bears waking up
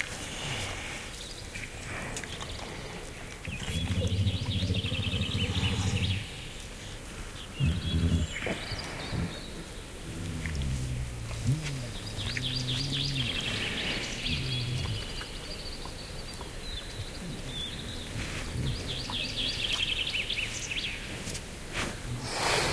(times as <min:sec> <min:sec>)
0:03.4 0:06.7, 0:07.6 0:15.6